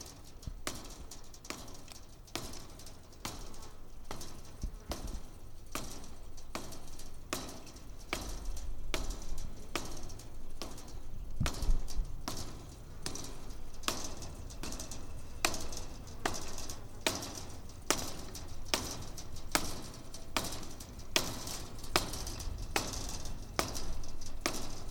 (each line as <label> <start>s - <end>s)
wire fence 0.0s - 24.9s